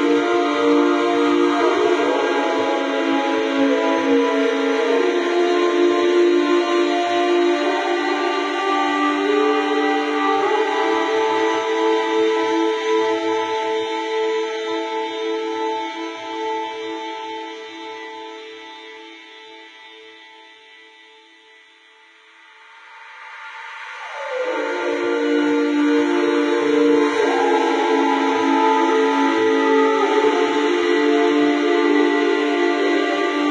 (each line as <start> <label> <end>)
23.9 unidentifiable instruments performing an odd tune 33.5
24.4 few singers 33.5